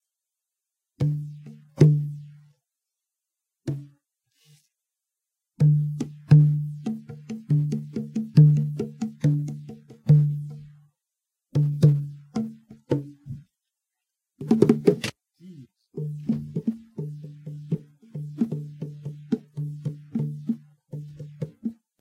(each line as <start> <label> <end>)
5.6 banging on my bongos 10.6
11.6 banging on my bongos 13.4
14.4 banging on my bongos 15.1
16.0 banging on my bongos 21.8